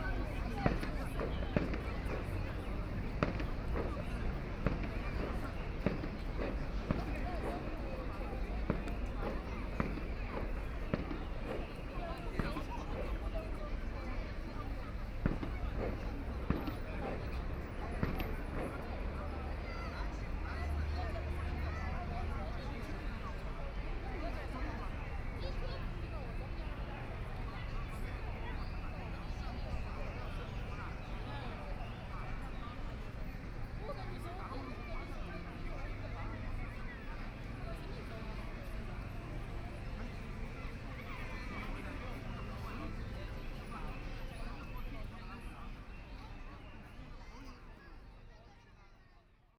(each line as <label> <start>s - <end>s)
Many tourists and residents to enter the park 0.0s - 49.5s